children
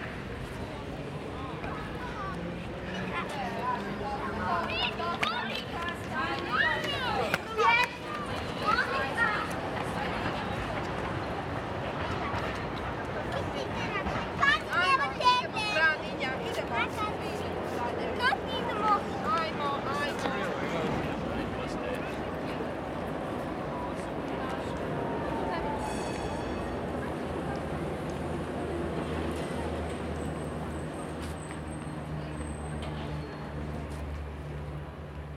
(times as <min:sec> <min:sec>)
0:01.6 0:20.4